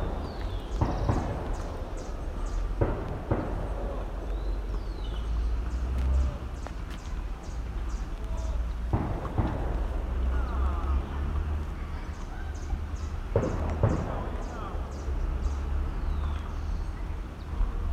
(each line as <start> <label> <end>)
0.0 shots 4.3
0.0 birds 17.9
0.0 cars 17.9
3.8 children screaming and running 14.8
8.9 shots 10.6
13.3 shots 14.8